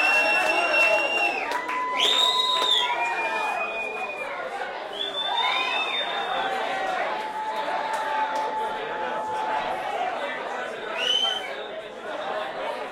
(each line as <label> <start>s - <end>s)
various cheers after 0.0s - 10.0s
Club bar crowd singing Happy Birthday 4.2s - 12.9s